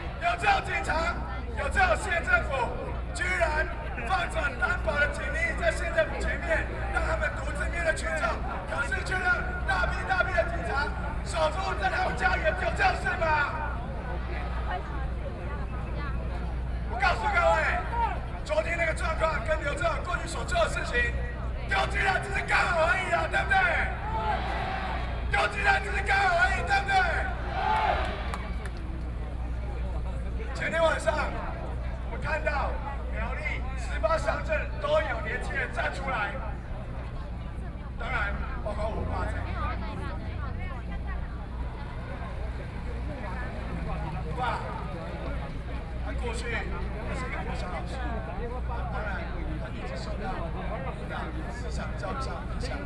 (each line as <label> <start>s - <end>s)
Protest 0.0s - 29.5s